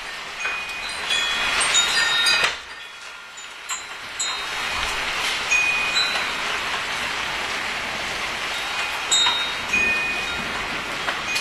rain 0.0 - 11.4
wind 0.0 - 11.4
thunderstorm 4.6 - 11.4

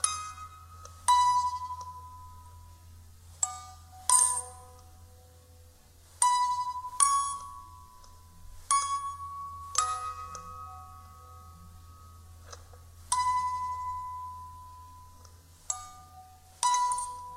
Creepy Music Box 0.0 - 2.8
Creepy Music Box 3.4 - 5.4
Creepy Music Box 6.2 - 17.3

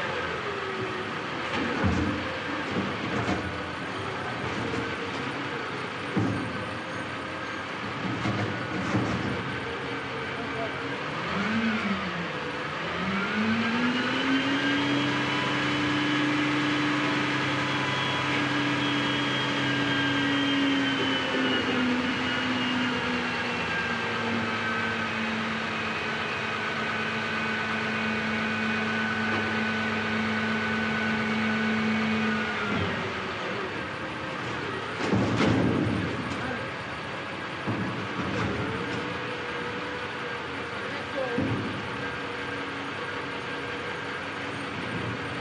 men hauling our dumpster to the truck 0.0 - 45.4
truck 0.0 - 45.4
voices 40.7 - 41.6

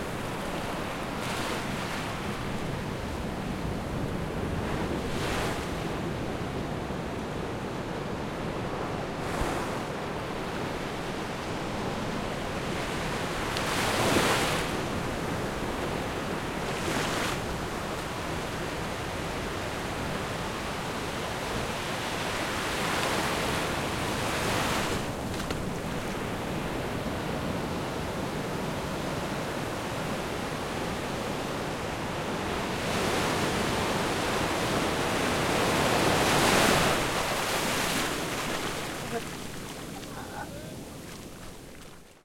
water 33.4 - 42.2

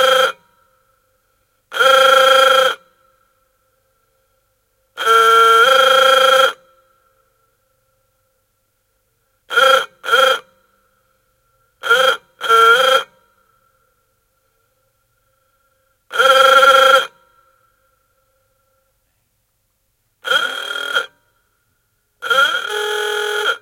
old car, hoarse horn honking 1.7 - 2.8
old car, hoarse horn honking 5.0 - 6.6
old car, hoarse horn honking 9.5 - 10.5
old car, hoarse horn honking 11.8 - 13.3
old car, hoarse horn honking 16.1 - 17.2
old car, hoarse horn honking 20.2 - 21.2
old car, hoarse horn honking 22.2 - 23.6

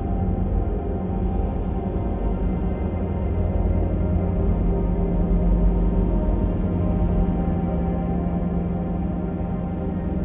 slowly evolving dreamy ambient drone pad 0.0 - 10.2

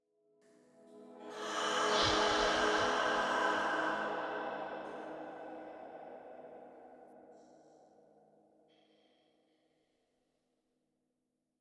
Mystical female choir swell 1.2 - 7.8
light, airy breath 1.3 - 6.5

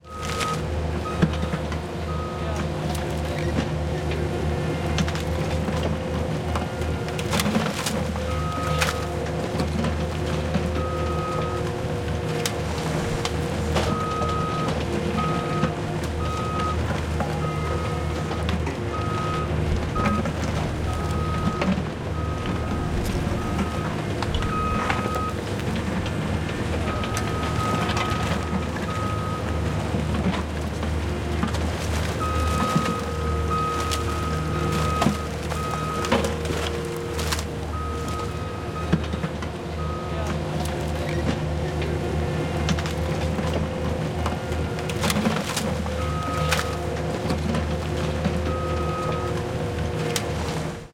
workers 0.0 - 50.9
BULLDOZER EXCAVATOR Working 0.0 - 50.9
BACKUP BEEP 0.1 - 2.6
BACKUP BEEP 8.3 - 9.1
BACKUP BEEP 13.9 - 29.6
BACKUP BEEP 32.2 - 36.4
BACKUP BEEP 37.7 - 39.0
BACKUP BEEP 39.8 - 40.3

